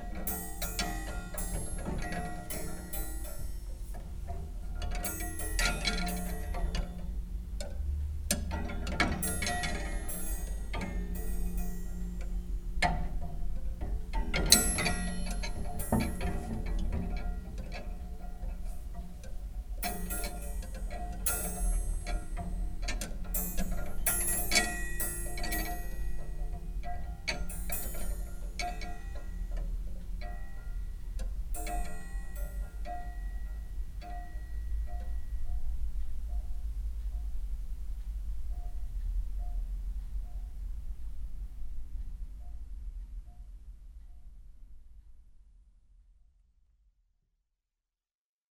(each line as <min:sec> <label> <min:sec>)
0:00.0 coathangers inside this nice creaky old wardrobe 0:35.6